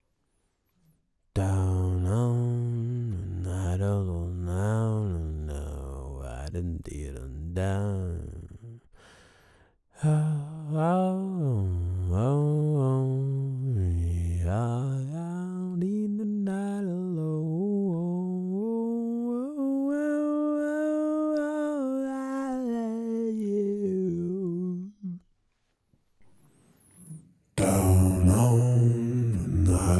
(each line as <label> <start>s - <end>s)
Vocal Weird Acapela 27.0s - 29.9s